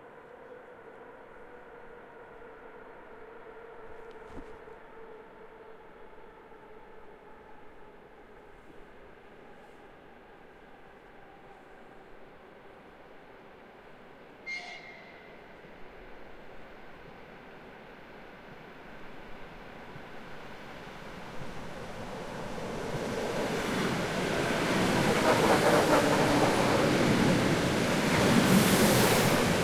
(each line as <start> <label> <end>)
0.0 Suburban train arrives & departs 29.6
0.0 people leaving & entering the train 29.6